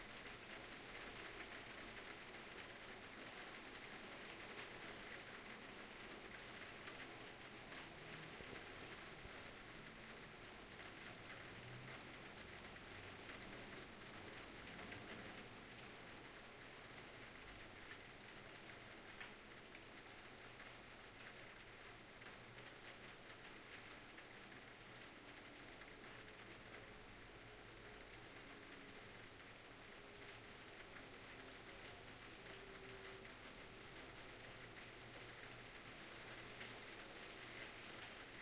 0.0s Calm rain falling on a roof window 38.4s

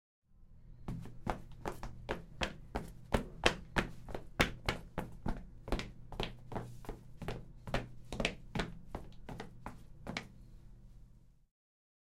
0.9s fast walk of a man 10.4s

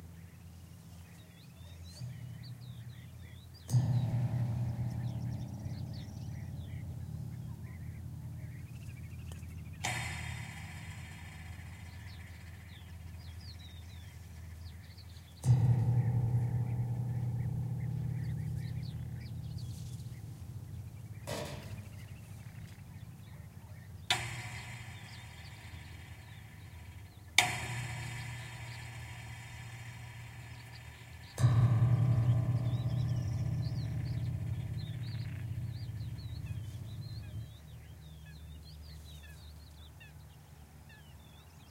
1.0s low pitched sound made by picking the wires on a fence 39.9s

